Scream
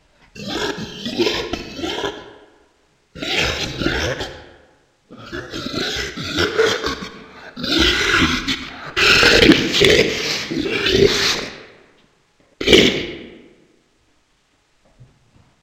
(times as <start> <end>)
0.4 2.5, 3.2 11.8, 12.6 13.7